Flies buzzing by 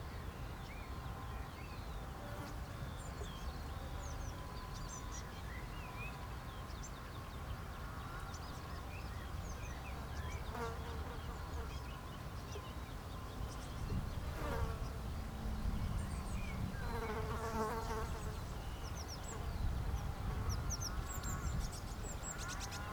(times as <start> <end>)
9.9 11.8, 14.0 18.6